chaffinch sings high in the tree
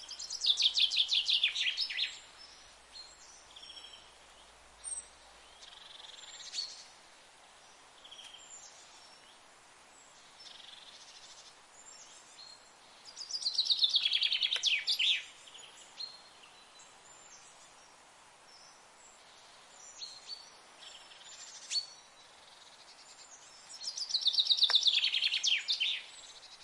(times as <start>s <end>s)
0.0s 6.8s, 11.8s 17.6s, 18.5s 26.6s